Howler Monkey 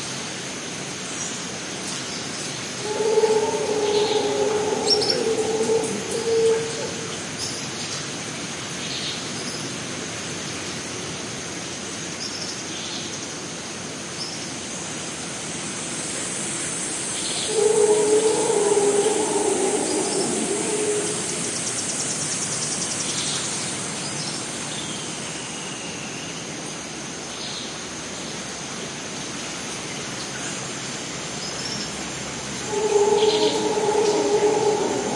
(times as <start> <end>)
2.7 7.5, 17.4 22.2, 32.4 35.1